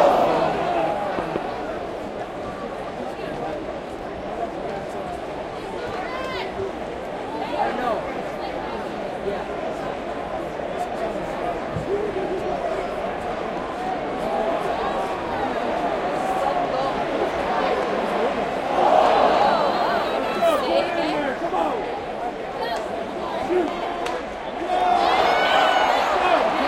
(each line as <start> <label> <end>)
0.0 Cheers 1.8
0.0 general crowd sounds 26.6
14.2 Cheers 21.8
23.4 Cheers 26.6